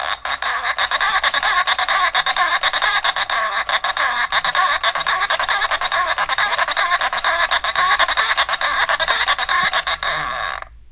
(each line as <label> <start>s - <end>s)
Toy phone makes squawking sound as it rolls along 0.0s - 10.7s